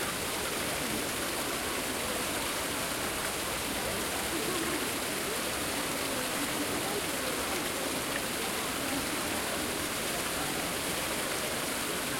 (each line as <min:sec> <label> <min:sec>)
0:00.0 crowd 0:12.1
0:00.0 water 0:12.1